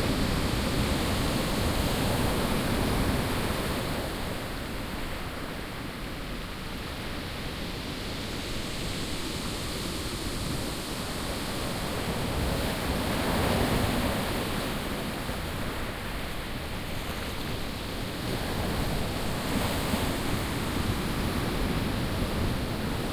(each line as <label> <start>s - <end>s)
wind 0.0s - 23.1s